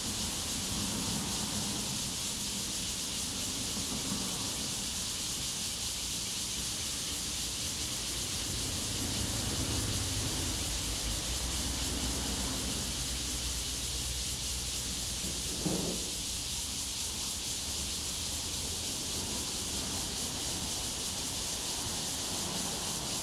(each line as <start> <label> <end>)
0.0 Cicadas sound 23.2
5.8 Traffic Sound 23.2